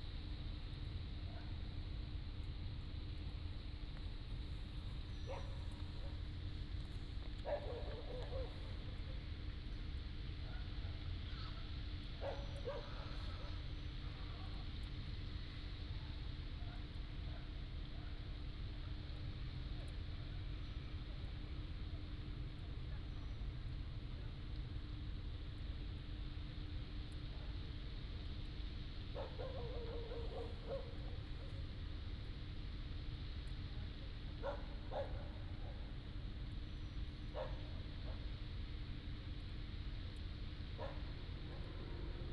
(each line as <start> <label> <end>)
5.3 Dogs barking 6.2
7.4 Dogs barking 8.8
12.2 Dogs barking 13.5
29.2 Dogs barking 31.2
34.4 Dogs barking 35.8
37.3 Dogs barking 38.2
40.8 Dogs barking 41.8